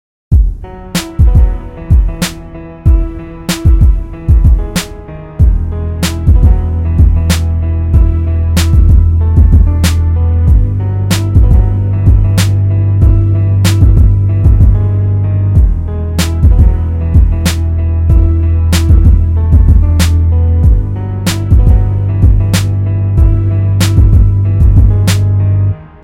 0.3s bass 26.0s
0.3s piano 26.0s

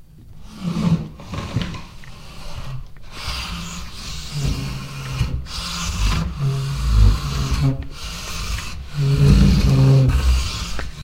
0.4s Chair Heavy Sliding 11.0s

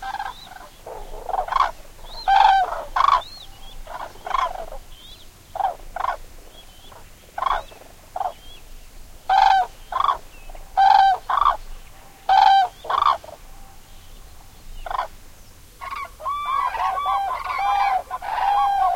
0.0s flock of Gray Cranes (Common Crane) 15.2s
15.8s flock of Gray Cranes (Common Crane) 18.9s

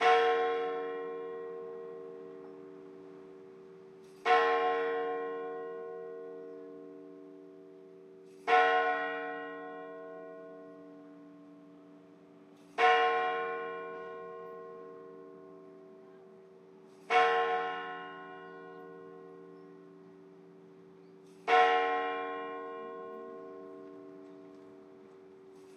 0.0s Church Bell 25.7s

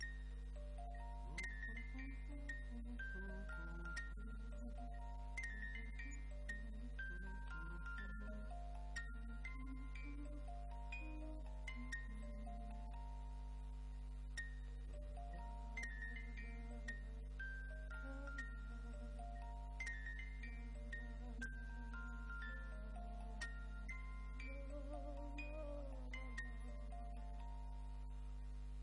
0.0s music box 28.8s
0.8s humming 28.8s

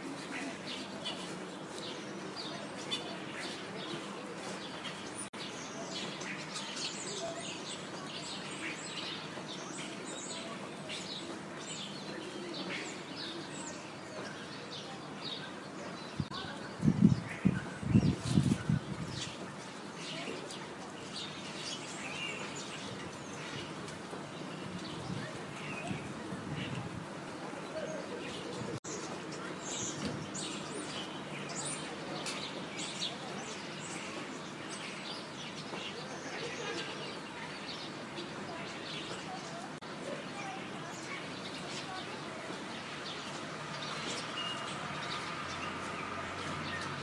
0.0s starlings 47.0s

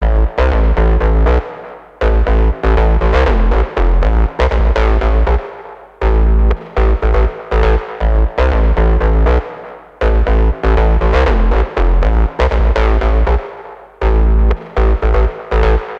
0.0s bass 15.9s

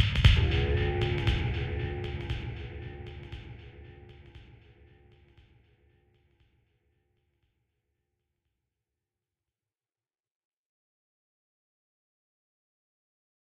0.3s my voice mixed with toms and delay 4.8s

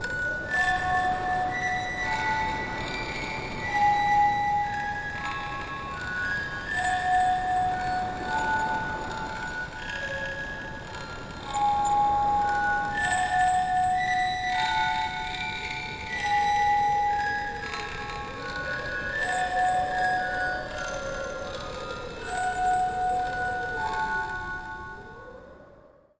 0.0s Lullaby 26.1s

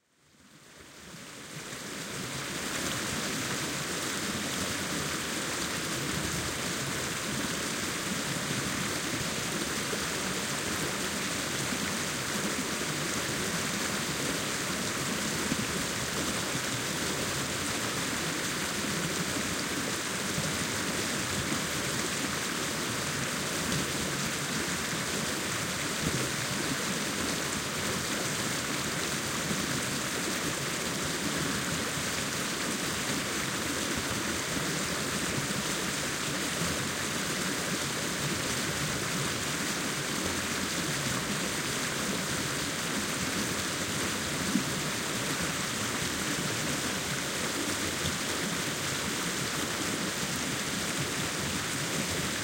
0.5s water flow 52.4s

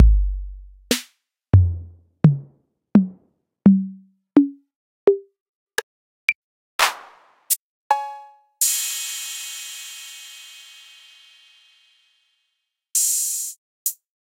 0.0s 808 drum kit emulation 0.8s

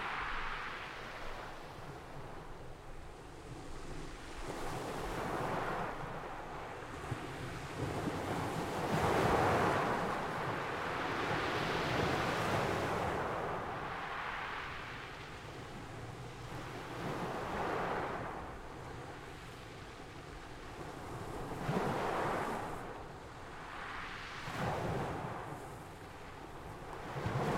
0.0s ocean waves at the shore 27.5s

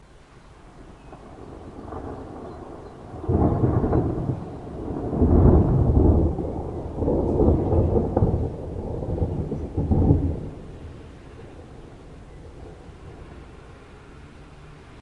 0.0s rain 15.0s
0.8s thunderclaps 14.3s
7.0s streetnoise 15.0s

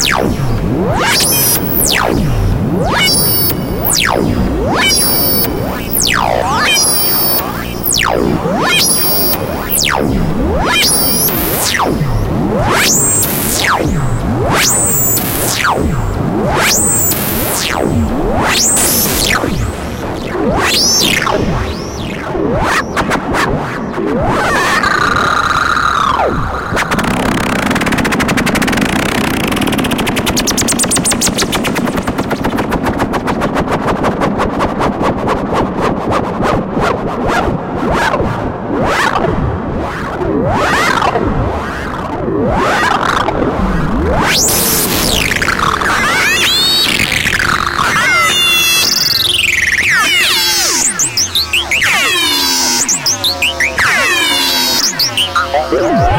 2.8s Screaming machine 15.9s
44.2s Screaming machine 56.1s

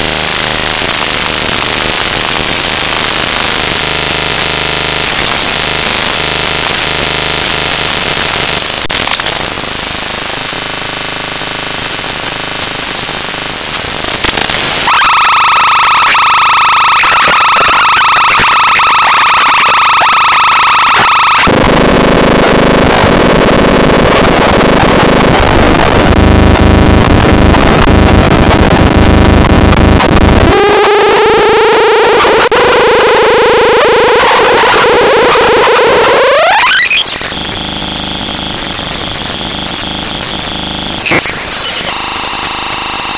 0.0s static 43.1s

